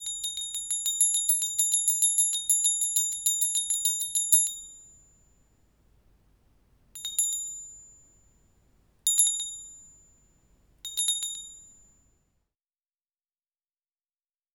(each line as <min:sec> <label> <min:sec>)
0:00.0 small bell ringing 0:05.5
0:07.0 small bell ringing 0:12.3